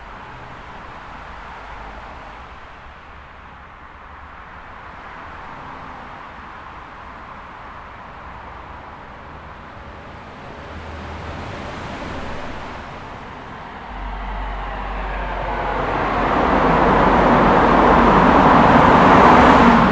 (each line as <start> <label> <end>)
0.0 echoing traffic 19.9